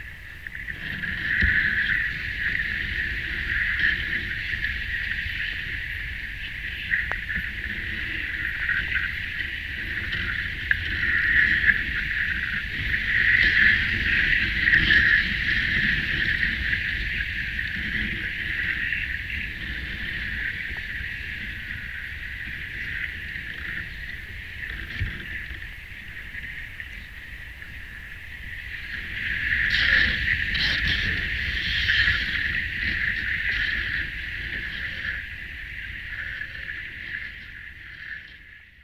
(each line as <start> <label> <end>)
0.0 reeds underwater 38.8